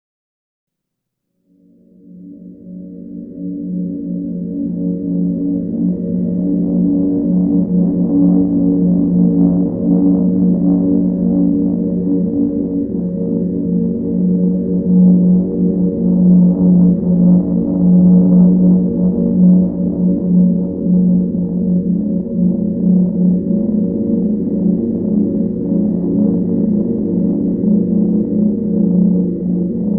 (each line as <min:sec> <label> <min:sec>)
0:01.8 ethereal long drone pad 0:29.9